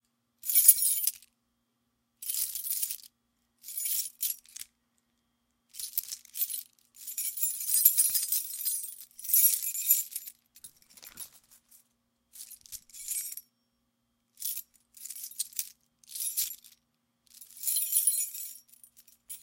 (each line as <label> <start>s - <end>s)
Multiple key jingles 5.8s - 11.8s
Multiple key jingles 12.4s - 13.4s
Multiple key jingles 17.4s - 19.4s